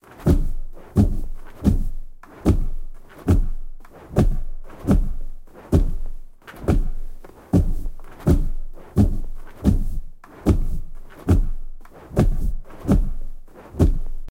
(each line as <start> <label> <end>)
0.1 giant wings flapping 14.3